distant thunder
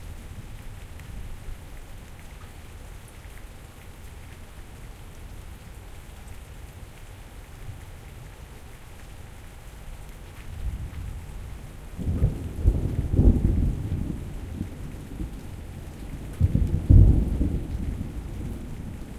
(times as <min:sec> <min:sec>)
0:12.0 0:15.6, 0:16.2 0:19.1